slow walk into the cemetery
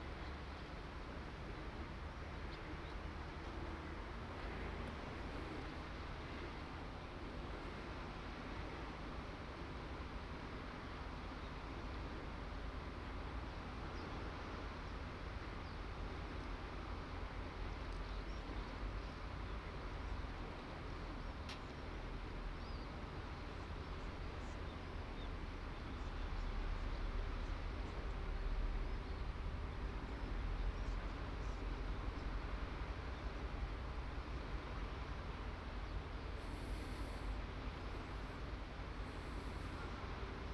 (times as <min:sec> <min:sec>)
0:17.8 0:40.5